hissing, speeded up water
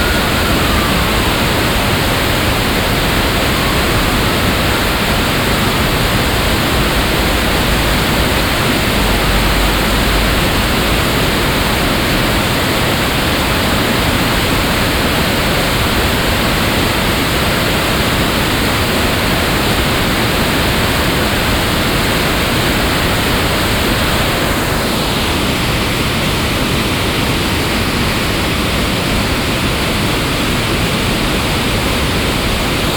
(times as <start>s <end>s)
0.0s 15.2s